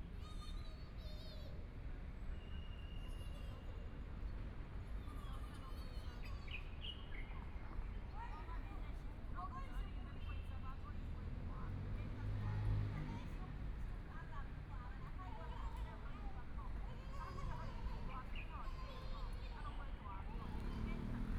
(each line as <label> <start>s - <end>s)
Traffic Sound 9.9s - 21.3s